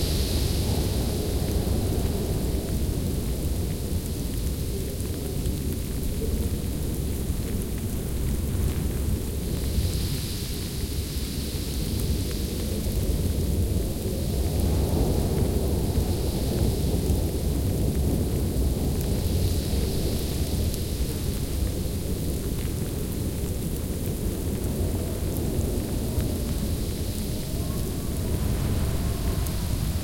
0.0s howling wind 30.0s
26.0s heavy snow 30.0s

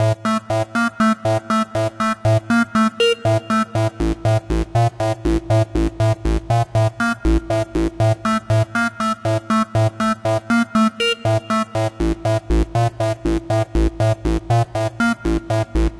3.4s bass line 8.8s
11.3s bass line 15.9s

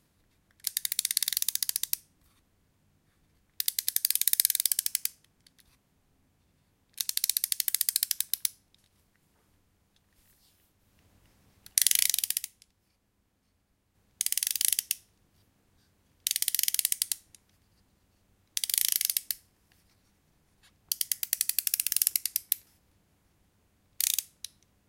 0.6s winding up a cheap wind-up toy 2.0s
7.0s winding up a cheap wind-up toy 8.5s
11.7s winding up a cheap wind-up toy 12.6s
14.2s winding up a cheap wind-up toy 15.0s
16.3s winding up a cheap wind-up toy 17.2s
18.6s winding up a cheap wind-up toy 19.4s
20.9s winding up a cheap wind-up toy 22.5s
24.0s winding up a cheap wind-up toy 24.4s

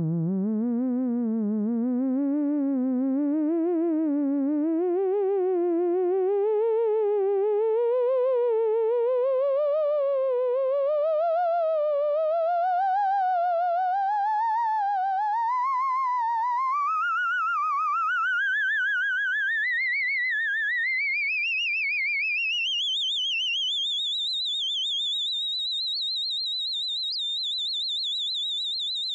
0.0s theremin windup 29.1s

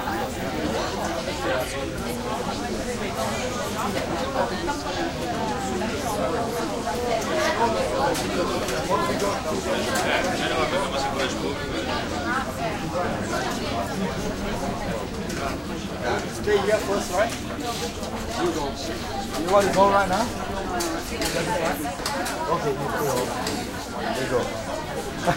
0.0s heavy walla murmur 25.3s

